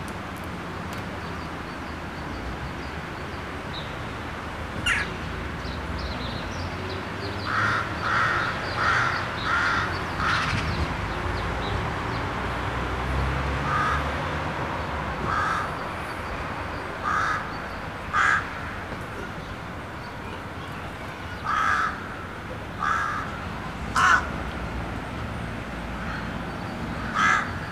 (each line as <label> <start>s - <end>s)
crows occupying tall trees 4.8s - 5.2s
crows occupying tall trees 7.4s - 11.2s
crows occupying tall trees 13.6s - 19.6s
crows occupying tall trees 21.3s - 24.4s
crows occupying tall trees 26.0s - 27.7s